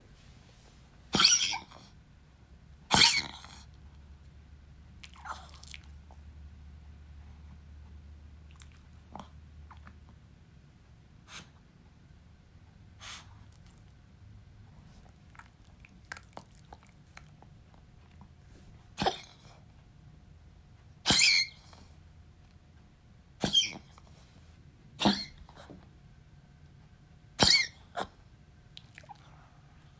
Small Dog wheezing & coughing 0:01.1 - 0:02.0
Small Dog wheezing & coughing 0:02.9 - 0:03.7
Small Dog wheezing & coughing 0:19.0 - 0:19.6
Small Dog wheezing & coughing 0:21.0 - 0:22.0
Small Dog wheezing & coughing 0:23.4 - 0:24.2
Small Dog wheezing & coughing 0:25.0 - 0:25.8
Small Dog wheezing & coughing 0:27.4 - 0:28.2

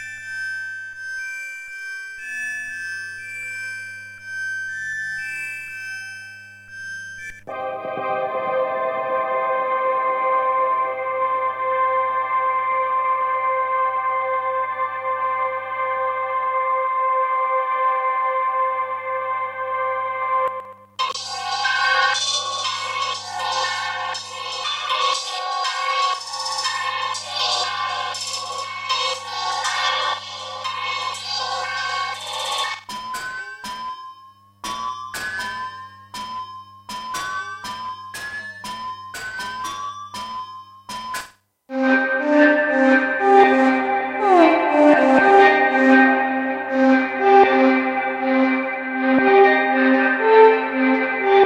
drone 0:21.0 - 0:32.8
drone 0:41.7 - 0:51.4

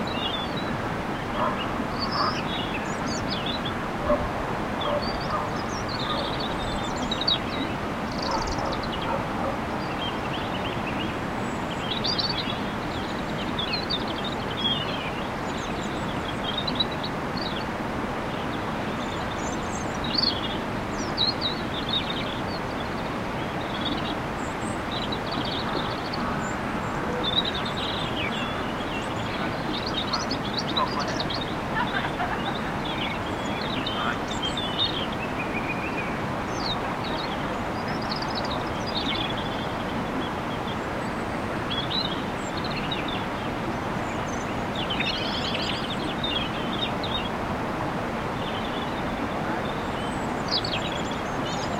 Blackbirds 0:00.0 - 0:51.7
Faint tricklin gof water 0:00.0 - 0:51.7
Robins 0:00.0 - 0:51.7

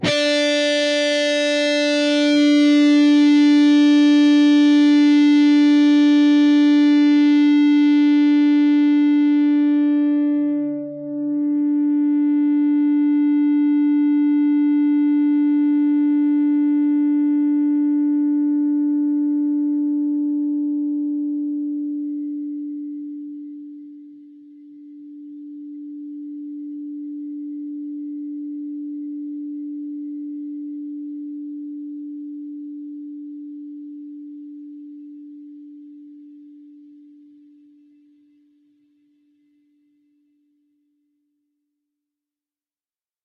distorted guitar 0:00.0 - 0:23.9

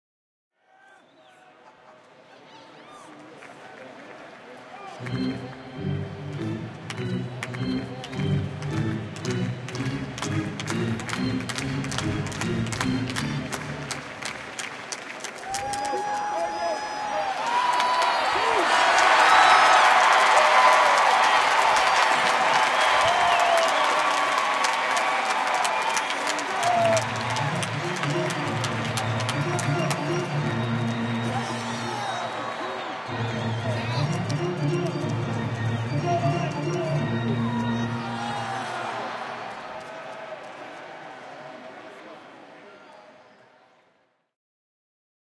Cheering 0:00.6 - 0:06.0
organ playing the charge song 0:05.0 - 0:14.2
Cheering 0:07.0 - 0:44.0
organ playing the charge song 0:26.7 - 0:39.3

